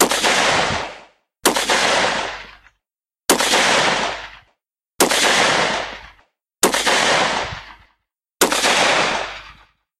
Rifle Shots 0.0 - 9.8

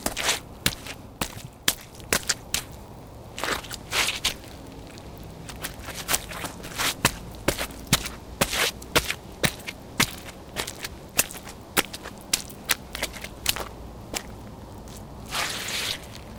Wet Steps on Liquid and Dirt 0.0 - 16.3

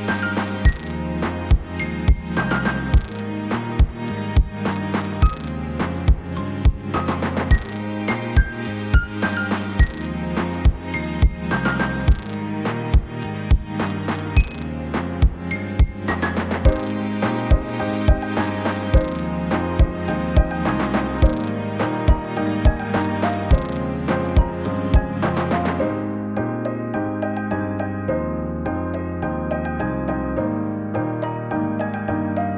Hip Hop Beat 0.0 - 25.8
strings 0.0 - 32.5

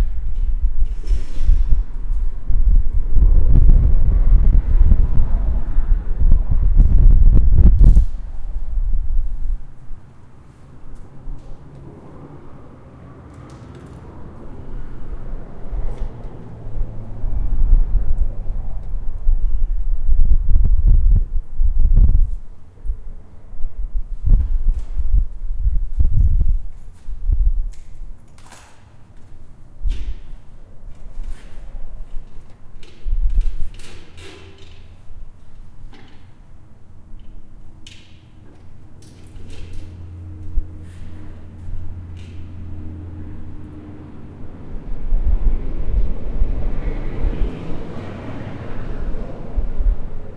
traffic 0.0 - 50.3

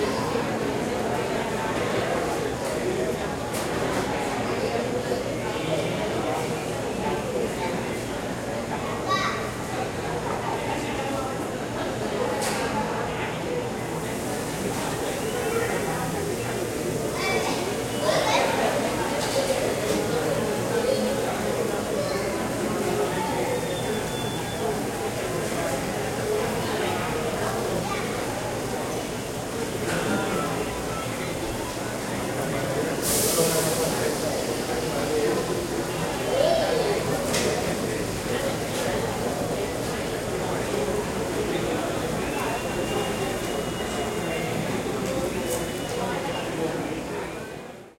Crowds 0.0 - 47.9

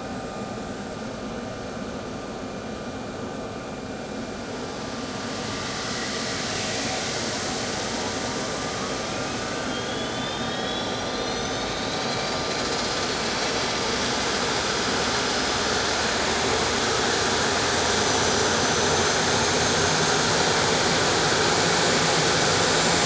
jet engine start 4.7 - 23.0

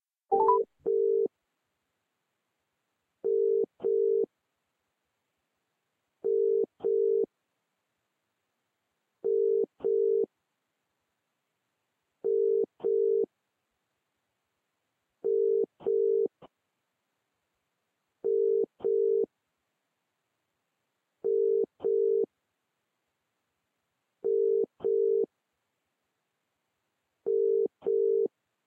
Phone call outgoing 0.3 - 1.2

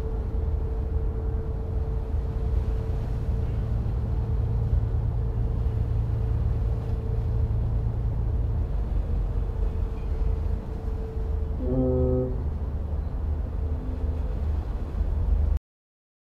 boats passing by 0.0 - 15.6
wind 0.0 - 15.6

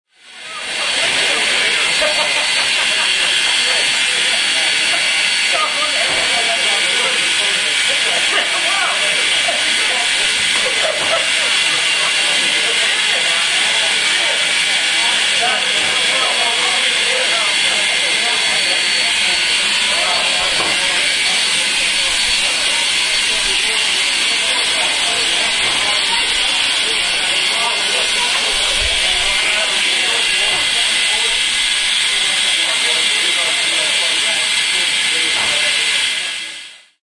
steam train 0.1 - 37.0

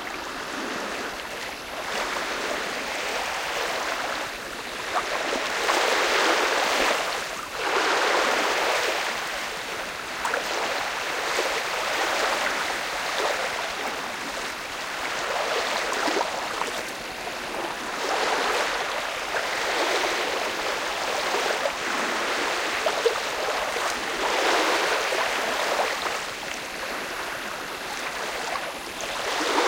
boats on the lake 0.0 - 29.6
waves on the shore 0.0 - 29.6

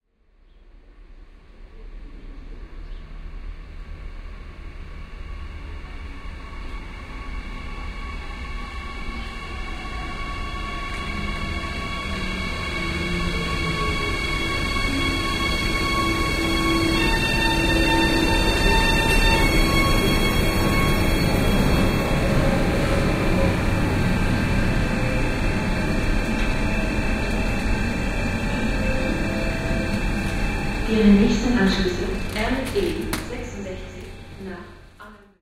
Electric Train Pulls Up 5.7 - 35.2

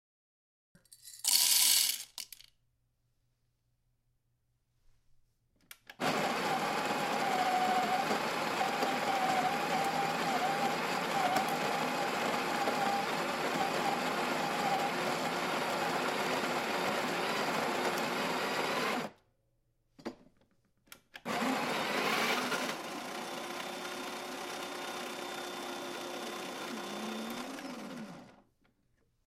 coffee grinder 1.1 - 2.4
coffee grinder 6.0 - 19.1
coffee grinder 21.2 - 28.4

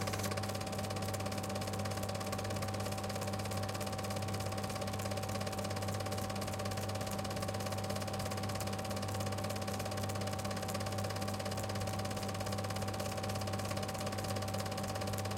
motor 0.0 - 4.4
8mm Film Projector 0.0 - 15.3
projector has a rattling sound 0.0 - 15.3

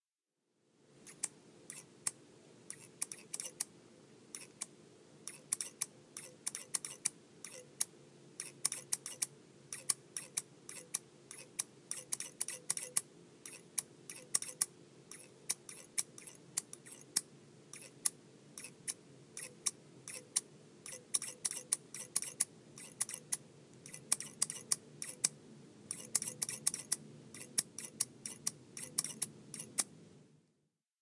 haircutting scissors snipping away 25.9 - 29.9

